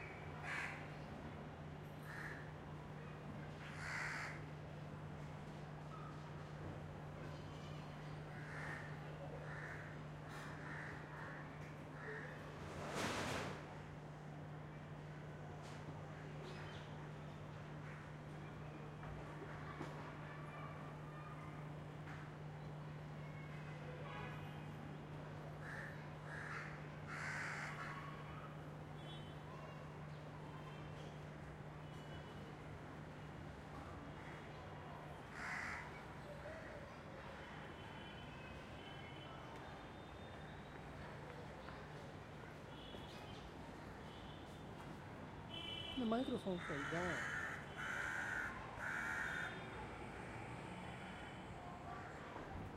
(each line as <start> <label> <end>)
0.0 distant BG traffic 52.7
0.4 crows 0.9
2.0 crows 2.4
3.6 crows 4.4
8.4 crows 12.4
25.6 crows 28.3
35.3 crows 36.0
46.6 crows 49.7